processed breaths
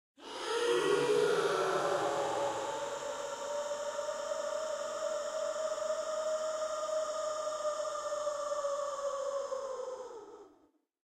0:00.2 0:08.0

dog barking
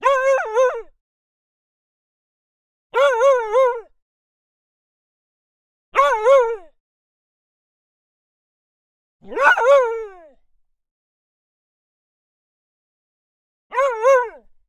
0:09.2 0:09.9

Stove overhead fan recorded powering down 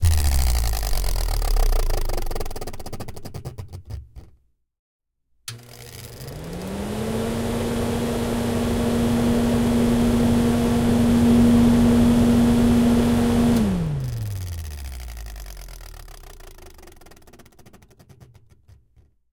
0:05.5 0:14.5

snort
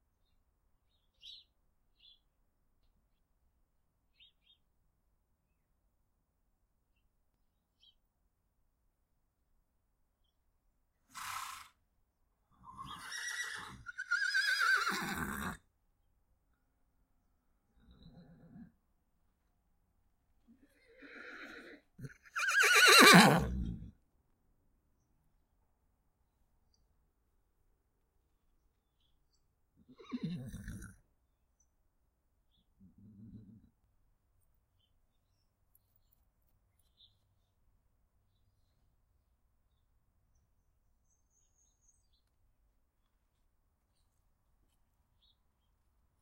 0:17.8 0:18.8, 0:30.3 0:31.0

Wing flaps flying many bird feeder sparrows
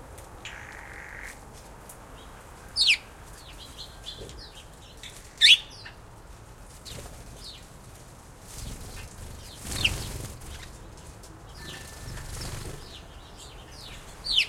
0:06.7 0:13.2

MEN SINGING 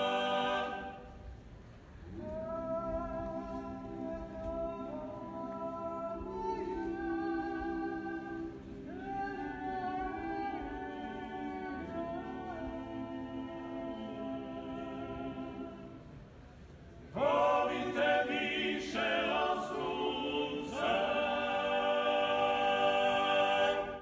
0:00.0 0:01.0, 0:17.2 0:24.0

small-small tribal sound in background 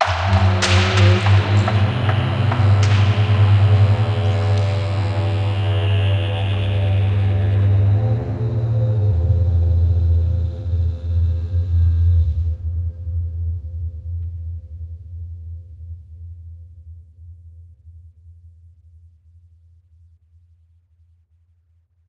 0:00.0 0:10.3

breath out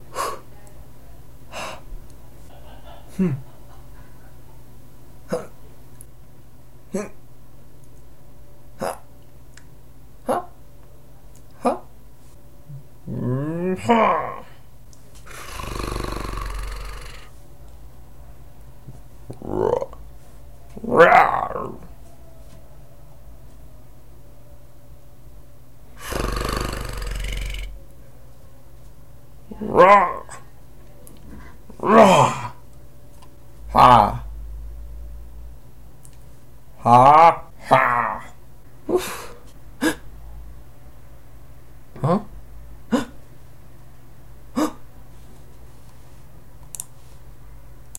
0:15.2 0:17.3

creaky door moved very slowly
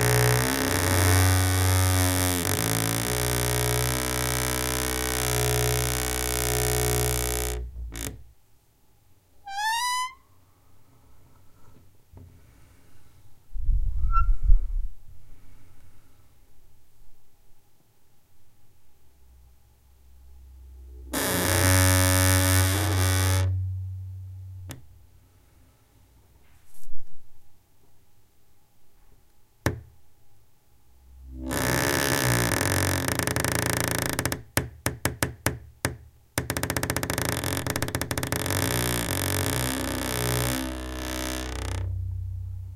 0:00.0 0:08.3, 0:09.5 0:10.2, 0:21.0 0:23.7, 0:31.3 0:42.3

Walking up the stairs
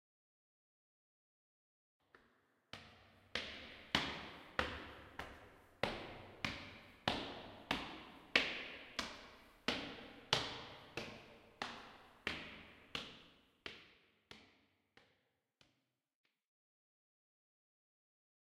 0:02.1 0:15.1

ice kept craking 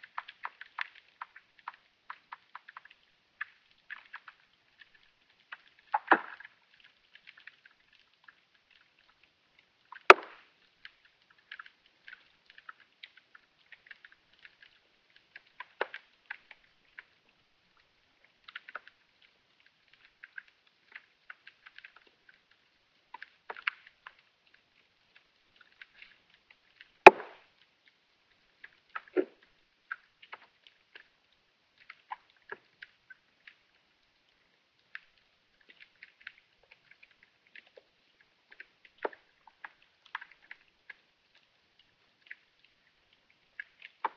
0:00.1 0:33.8

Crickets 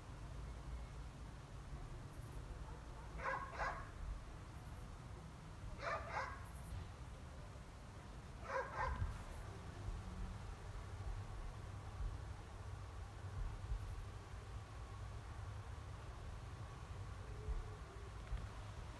0:02.0 0:02.5, 0:04.5 0:05.0

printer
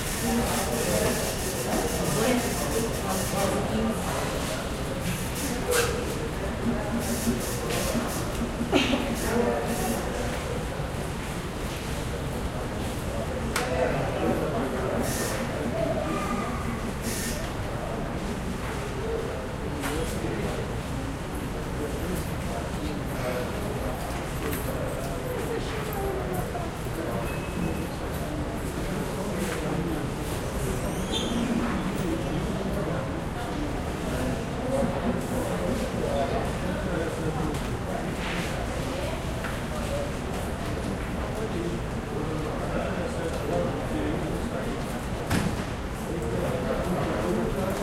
0:00.0 0:10.8, 0:14.3 0:17.7

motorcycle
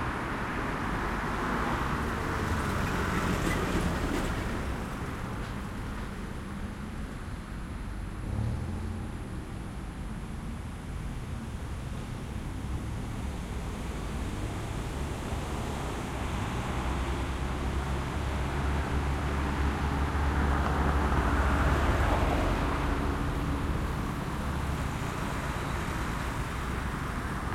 0:06.4 0:27.5

